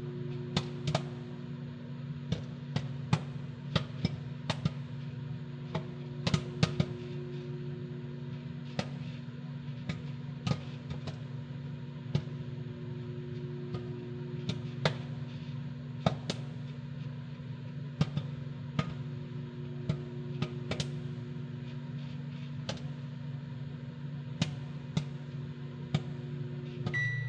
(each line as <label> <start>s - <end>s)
microwave 0.0s - 27.2s
microwave popcorn 0.0s - 27.2s